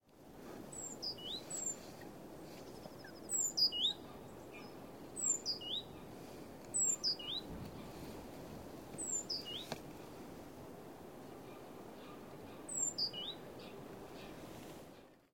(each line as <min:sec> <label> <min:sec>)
0:00.7 Birds singing 0:08.0
0:09.0 Birds singing 0:09.8
0:11.4 Birds singing 0:14.4